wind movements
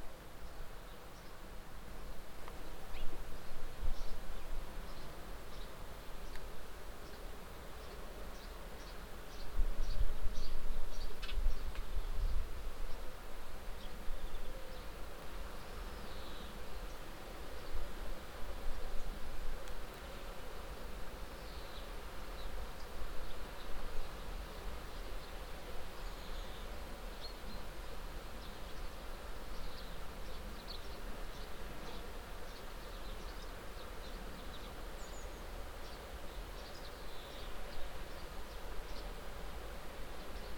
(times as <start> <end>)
9.4 14.4